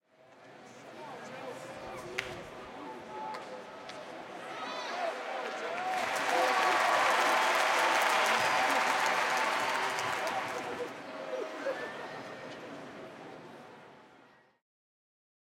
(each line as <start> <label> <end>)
0.7 walla 12.6
4.2 cheering 11.0
5.1 applause 10.9